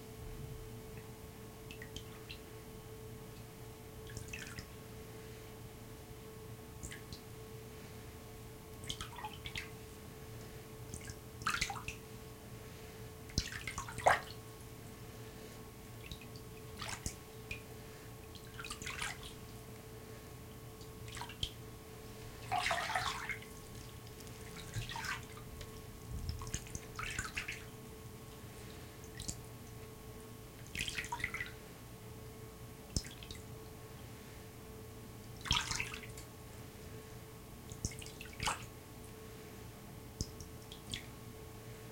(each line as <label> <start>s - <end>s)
Fairly fast-paced paddling in a small plastic utility sink 22.4s - 25.4s